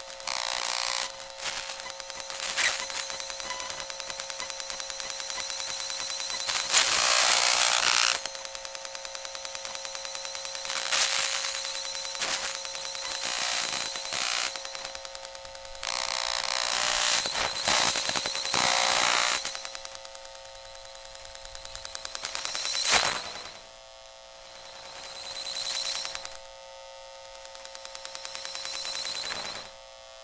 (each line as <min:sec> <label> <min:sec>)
0:00.0 microwave 0:23.8
0:00.0 oscilloscope 0:29.8
0:00.0 Electro-magnetic field readings 0:30.2